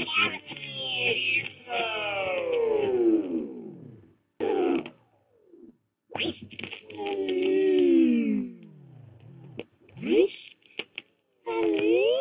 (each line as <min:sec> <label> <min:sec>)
0:00.0 scratched a record on a stereo 0:02.8
0:06.1 scratched a record on a stereo 0:07.9